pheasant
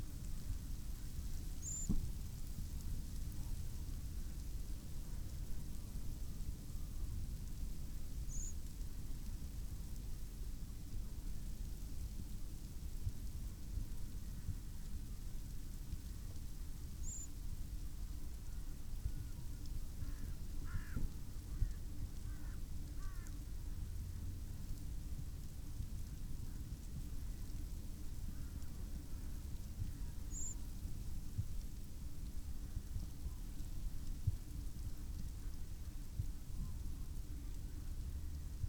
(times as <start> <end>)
1.6 2.0, 28.3 30.6